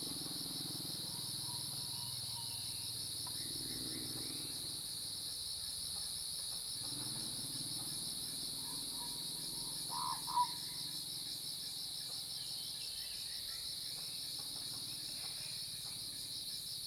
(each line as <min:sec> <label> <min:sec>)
0:00.0 Cicada sounds 0:16.8